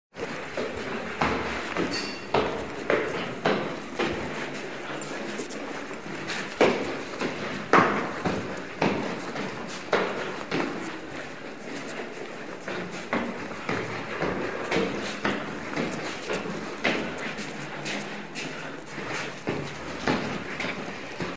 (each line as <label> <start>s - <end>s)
Soft Indoor Footsteps on Apartment Stairs 0.1s - 21.3s